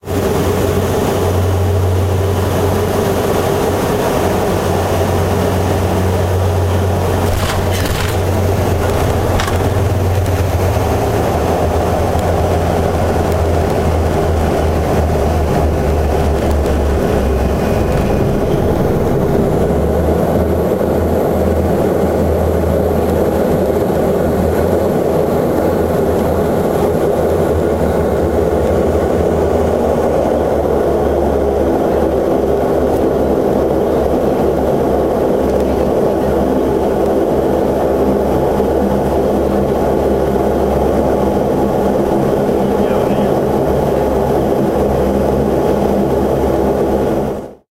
Landing thump 7.1 - 10.5

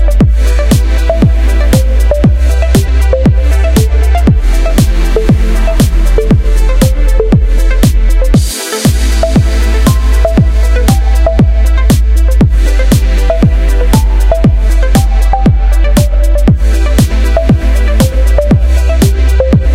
snare 0.0 - 5.2
bass 0.0 - 19.7
hats 0.0 - 19.7
lead 0.0 - 19.7
pads 0.0 - 19.7
kick 0.2 - 19.7
snare 5.8 - 6.1
snare 7.8 - 19.7

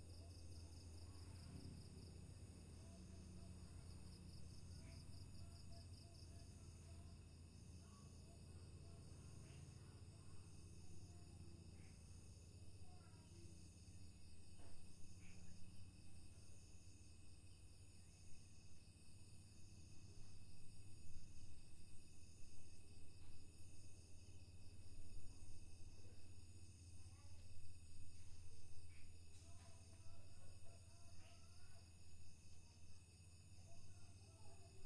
crickets 0.0 - 34.8
gecko 28.9 - 34.8

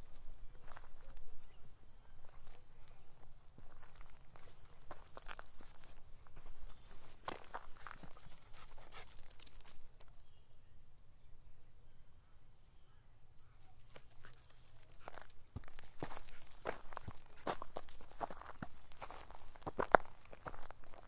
Walking through a bush / forest 0.0 - 10.4
wind 0.0 - 21.0
Walking through a bush / forest 13.6 - 21.0

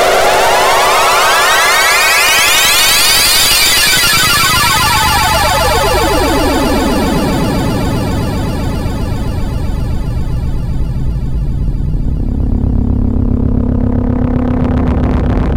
analog synthesizer 0.0 - 15.5

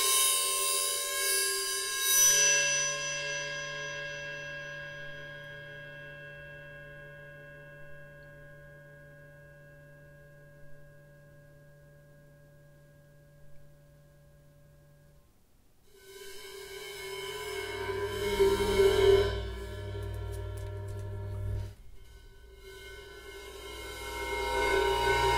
Bowing an 18in crash cymbal up close 0.0 - 11.6
Bowing an 18in crash cymbal up close 15.9 - 25.3

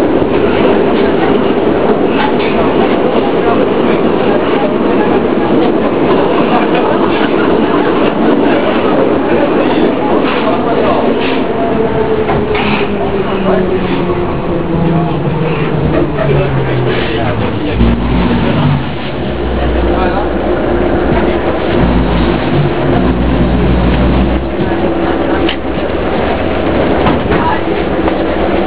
metro 0.0 - 28.6

